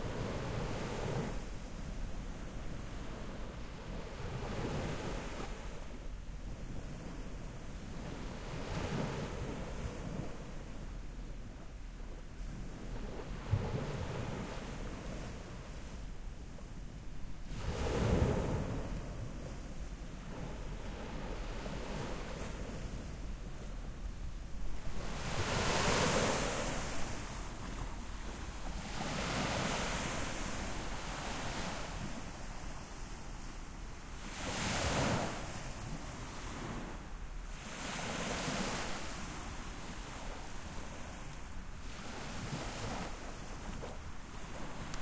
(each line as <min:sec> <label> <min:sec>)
0:00.0 calm sea 0:45.0